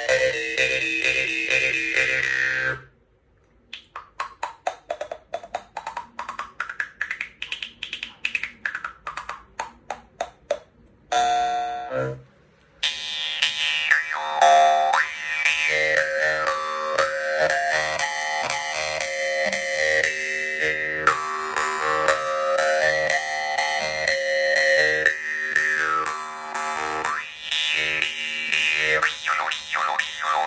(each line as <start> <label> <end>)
0.0 Jaw Harp 2.9
12.8 Jaw Harp 30.4